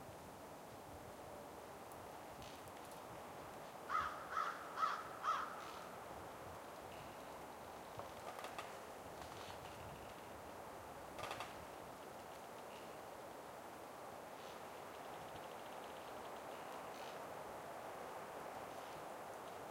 wind in trees 0.0 - 19.7
crows and ravens cawing 3.9 - 6.0
Tree branches creaking 7.8 - 10.4
Tree branches creaking 11.1 - 13.0

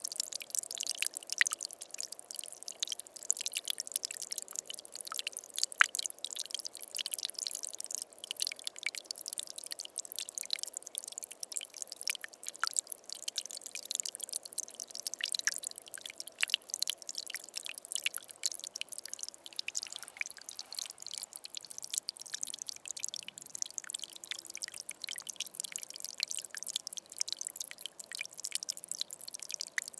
Small Marble Stream water 0.0 - 29.9

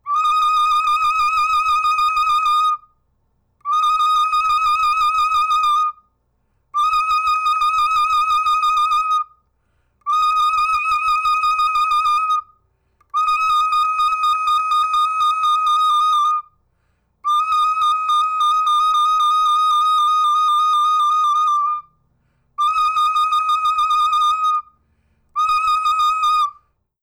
Recorder, Trills 3.7 - 6.0
Recorder, Trills 6.8 - 9.3
Recorder, Trills 10.1 - 12.5
Recorder, Trills 13.2 - 16.4
Recorder, Trills 17.3 - 21.9
Recorder, Trills 22.6 - 24.7
Recorder, Trills 25.4 - 26.6

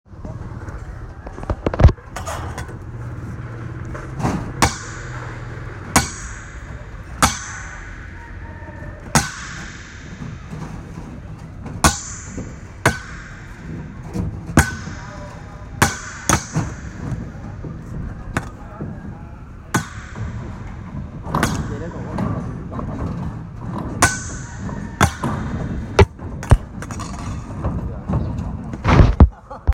Wire hit long metal pipe 4.2 - 8.4
Wire hit long metal pipe 9.0 - 18.6
Wire hit long metal pipe 19.6 - 23.1
Wire hit long metal pipe 23.9 - 27.5

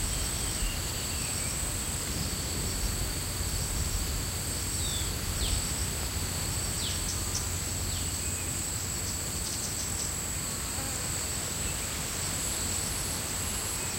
Bees 0.0 - 13.9
Wind 0.0 - 13.9
crickets 0.0 - 13.9

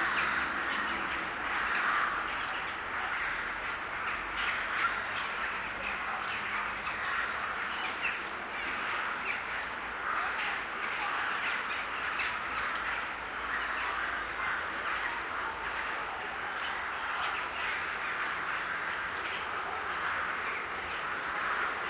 birds 0.0 - 21.8

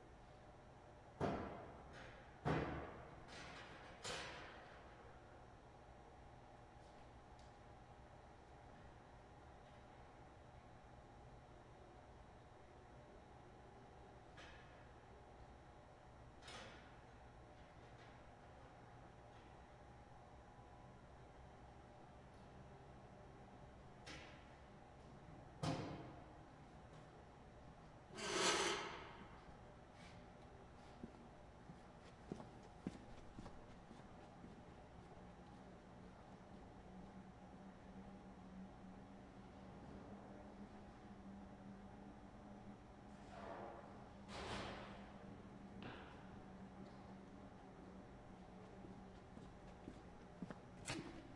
activation of two exhaust fans 42.9 - 47.3

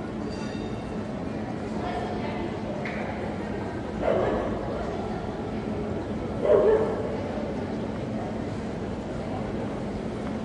People can be heard walking and talking 0.0 - 10.4

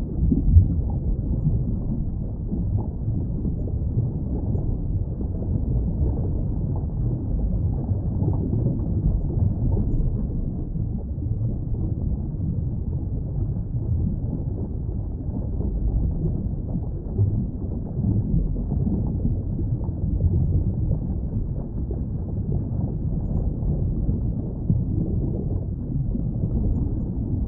rumble 0.0 - 27.4
bubbles 0.0 - 27.4

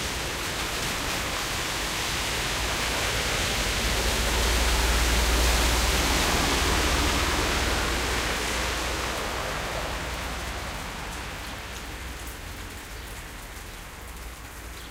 Noise of cars and truck 0.0 - 14.9
Rain 0.0 - 14.9

